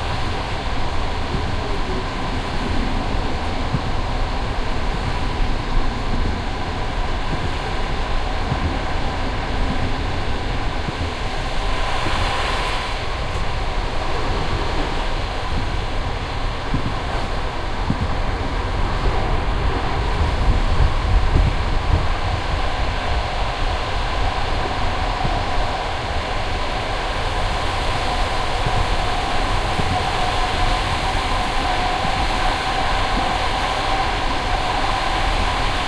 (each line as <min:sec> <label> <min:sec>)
0:00.0 train 0:35.8
0:00.0 typical klok-klok sound you can hear in trains 0:35.8